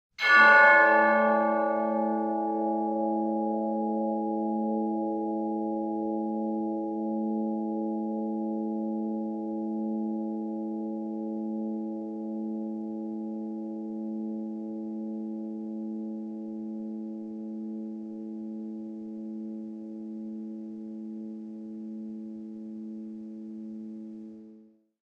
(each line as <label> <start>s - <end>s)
bell-like tolling 0.2s - 3.8s